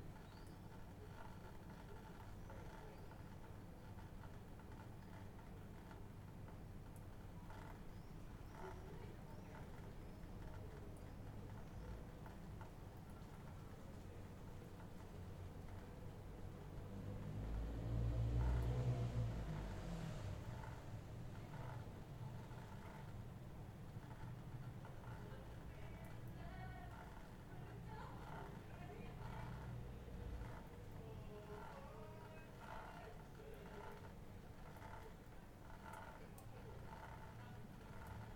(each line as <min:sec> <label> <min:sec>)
0:00.0 sounds from houses 0:38.3
0:17.0 cars 0:20.6